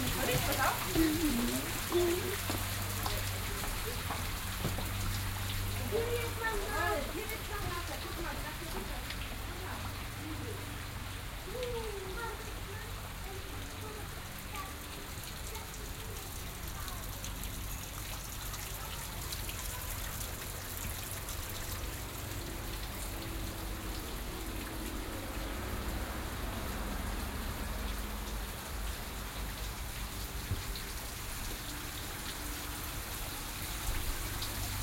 0.0s water is rinsing down bushwoods 34.8s

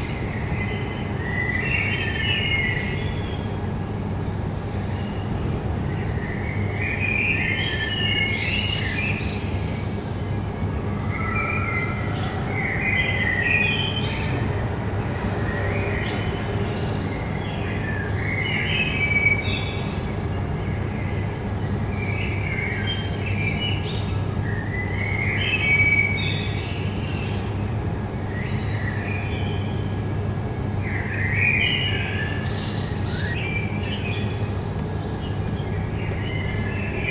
0.0s air conditioning noise 37.1s
0.0s bird song 37.1s
0.0s city noise 37.1s
9.4s metro 21.8s

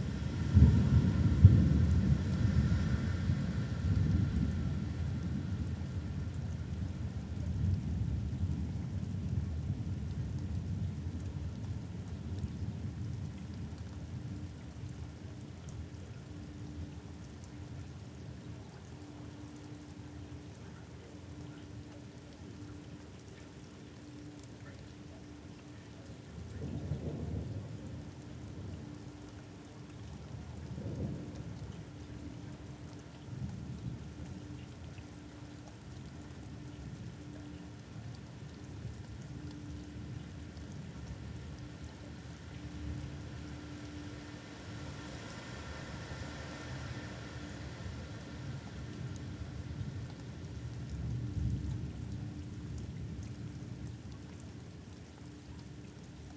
0.0s thunder rumble overhead 15.2s
15.8s thunder rumble overhead 44.5s

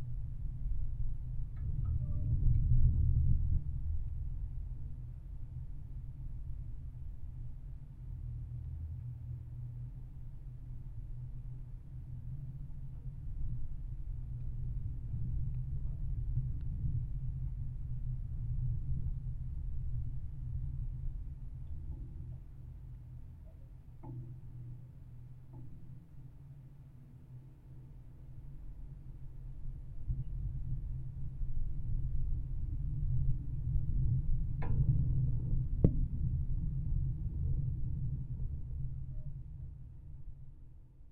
0.0s Low rumble of lightning rod on building 41.1s

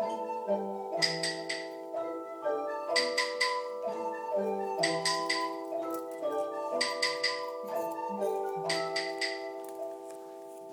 0.0s Musikalischer Abend 10.7s

